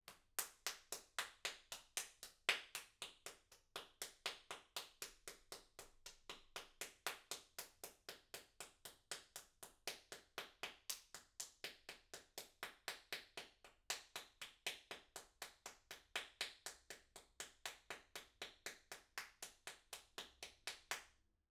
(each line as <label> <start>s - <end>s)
Applause 0.1s - 21.1s